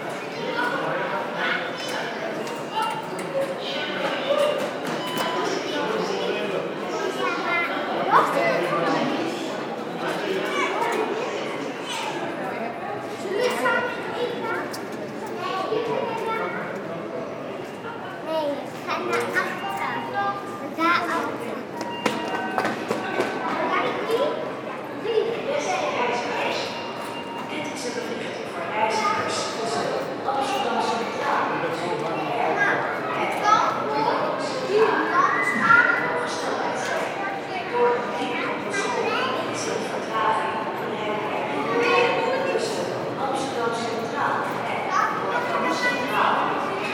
0.0s people talking 46.9s
1.6s noisy sounds of the gates 7.9s
18.6s noisy sounds of the gates 41.9s

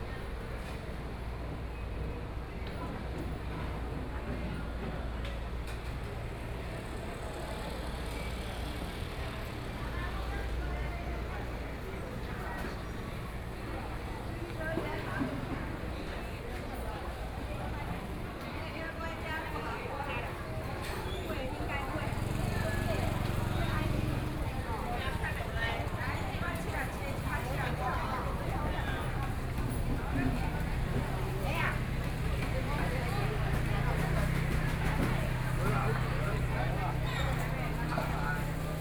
0.0s Walking through the traditional market 38.8s
5.3s Traffic Sound 38.8s
5.5s Construction noise 38.8s

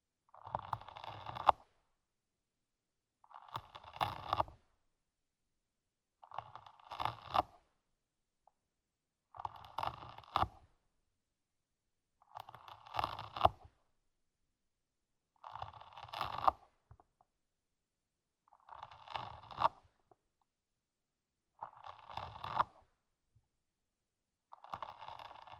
0.3s famished snail, eating a carrot 1.7s
3.3s famished snail, eating a carrot 4.5s
6.2s famished snail, eating a carrot 7.7s
9.3s famished snail, eating a carrot 10.6s
12.4s famished snail, eating a carrot 13.7s
15.4s famished snail, eating a carrot 17.1s
18.5s famished snail, eating a carrot 19.9s
21.5s famished snail, eating a carrot 22.9s
24.6s famished snail, eating a carrot 25.5s

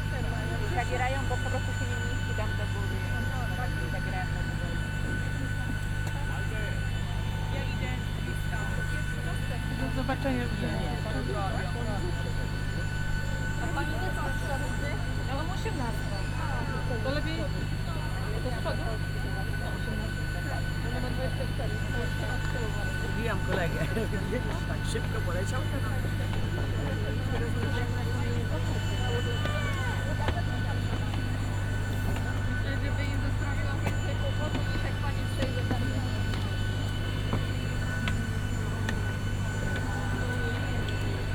0.0s passengers talking to the staff 41.3s

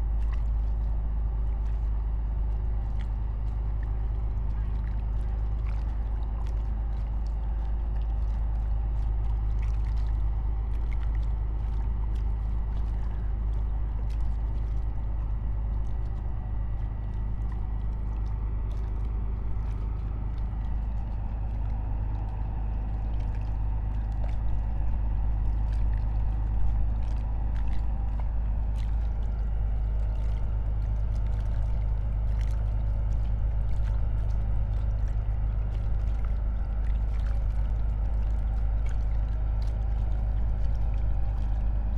0.0s gentle waves 41.9s

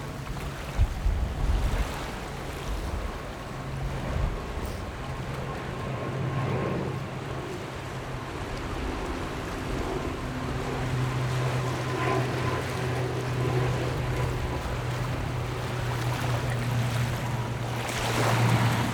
0.0s Waves and tides 18.9s

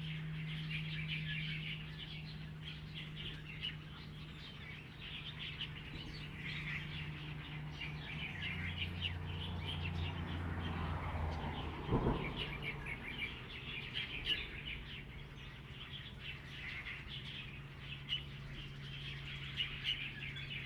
0.0s Birdsong 20.6s
6.0s Traffic Sound 15.6s

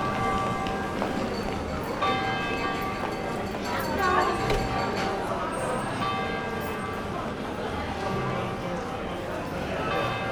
0.0s bustling with people 10.3s
0.0s walking along the main street 10.3s

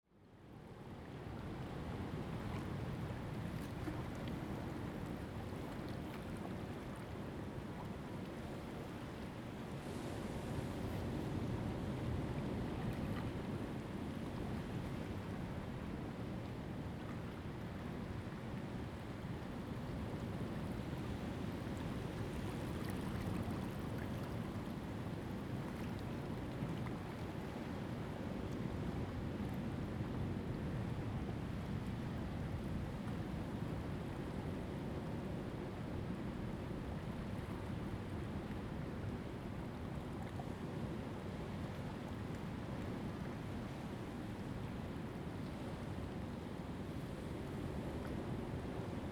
0.9s Waves and tides 49.1s

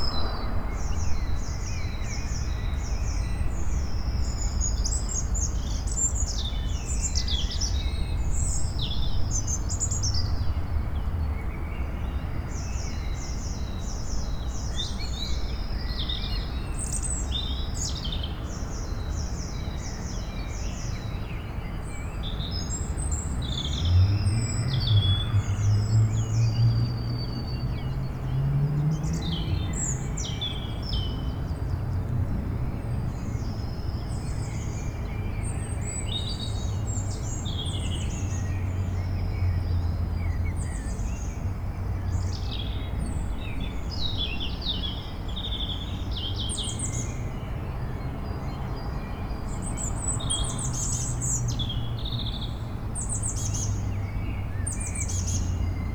0.0s distant tramway 3.6s
0.0s Bird songs 55.9s
0.0s city noise 55.9s

